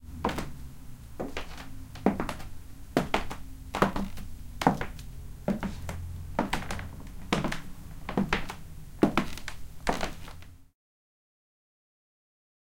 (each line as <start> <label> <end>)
0.1 person walks in high heels 0.6
1.2 person walks in high heels 10.5